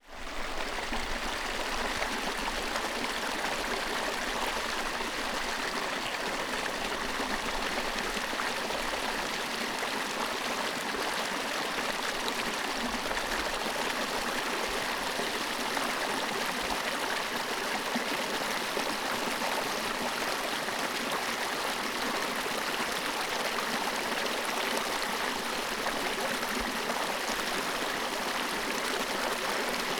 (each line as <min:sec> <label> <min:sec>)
0:00.1 Babbling brook 0:29.9